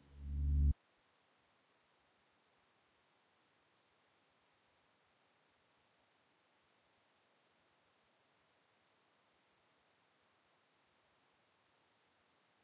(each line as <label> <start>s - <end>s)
Pulsing Analog Drone 0.0s - 0.7s